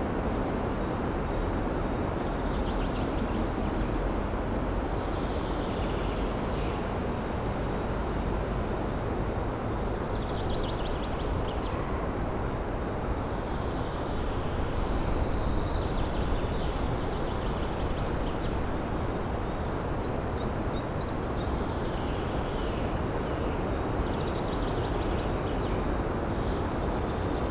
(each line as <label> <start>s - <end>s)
strong wind whirring in the trees 0.0s - 27.5s